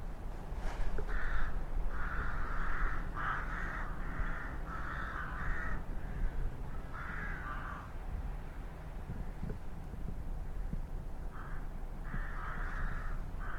Crows 1.0 - 8.0
Crows 10.4 - 13.5

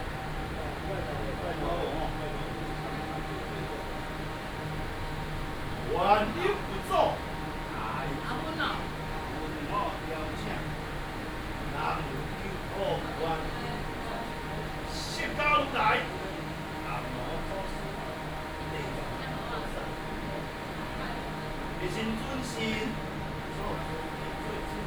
conduct a religious rite 0.0 - 24.8

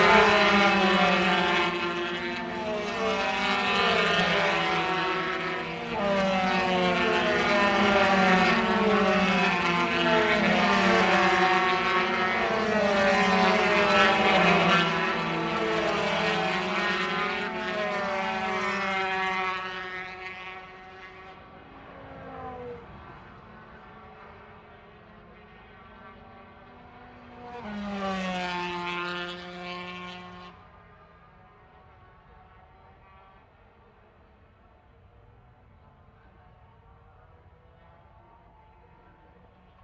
125 race 0.0 - 39.8

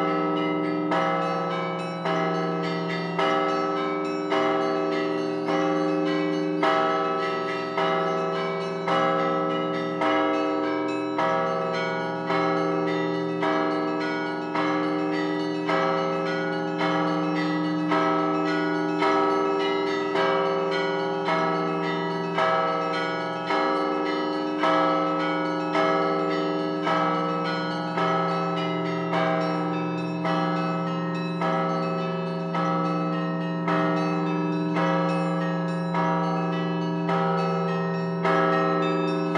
Bell concert 0.0 - 39.3

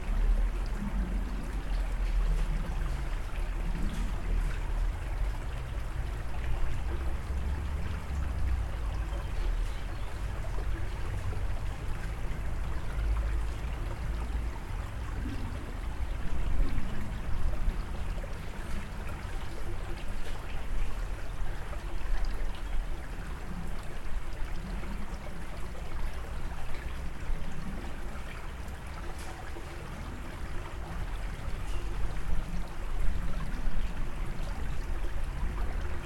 Stream near patio 0.0 - 36.0

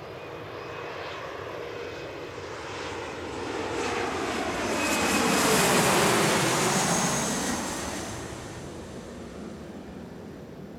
Aircraft 0.0 - 10.7

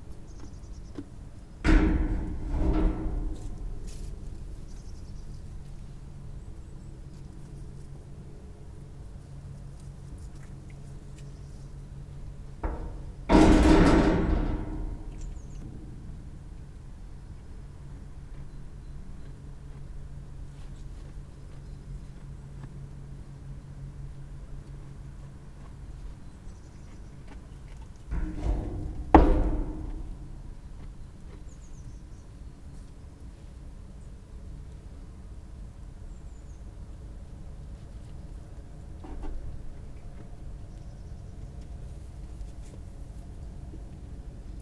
sheep (rams) horns' clanging on their feeding trough 1.6 - 5.7
sheep (rams) horns' clanging on their feeding trough 12.6 - 16.6
sheep (rams) horns' clanging on their feeding trough 28.1 - 30.9

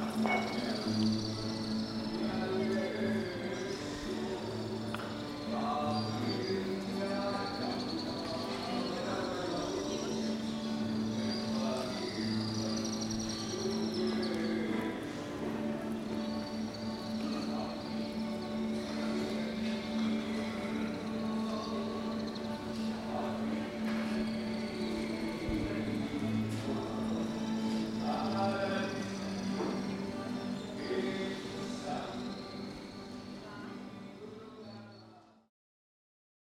birdsongs 0.0 - 33.6
street musician plays the guitar 0.0 - 34.5
sings traditional Corfiot songs 0.0 - 35.2

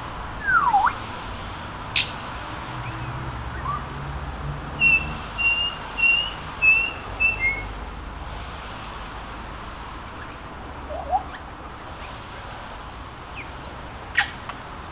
Passing cars 0.0 - 14.9
exotic bird songs 0.4 - 1.0
exotic bird songs 2.8 - 7.8
exotic bird songs 10.0 - 12.6
exotic bird songs 13.2 - 14.5

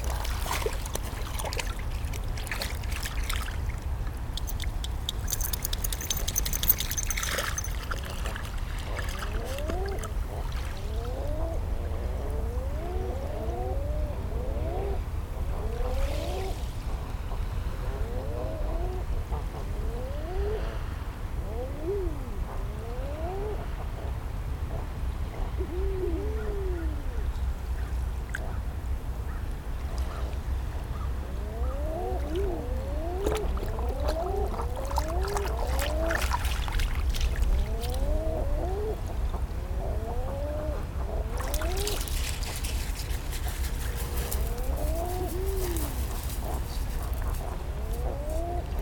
walkers on the nearby trail 0.0 - 10.8
puppy playing in the sand 0.0 - 10.9
Common Eider couples hanging out in a cove, calling 0.0 - 48.8
low-level hum of traffic 0.0 - 48.8
jingling her collar 4.4 - 8.4
airplane passing overhead 29.6 - 48.8
puppy playing in the sand 29.8 - 39.0
walkers on the nearby trail 33.2 - 38.2
puppy playing in the sand 40.4 - 48.8
walkers on the nearby trail 41.4 - 48.8

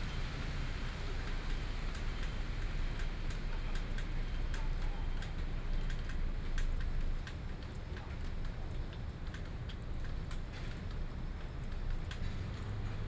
rainy day 0.0 - 13.0
Traffic noise 11.2 - 13.0

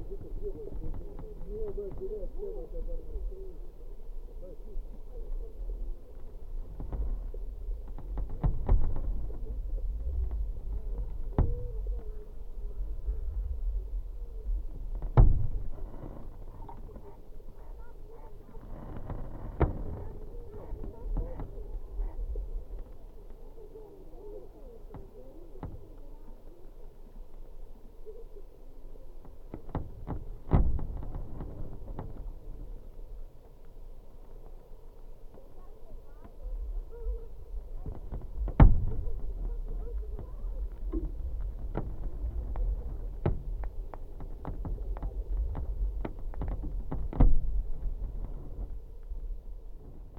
speaking passengers 0.0 - 6.1
speaking passengers 16.5 - 19.0
speaking passengers 19.8 - 29.2
speaking passengers 35.4 - 38.1
speaking passengers 38.8 - 41.1

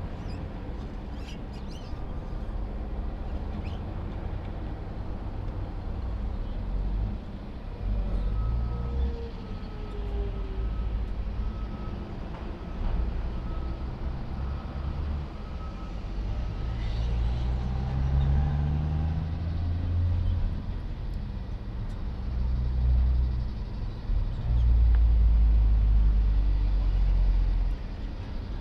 birds 0.1 - 2.6

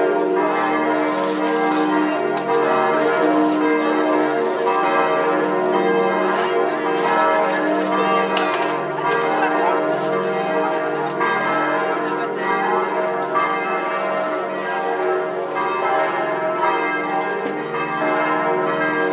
people's conversations 2.2 - 14.2

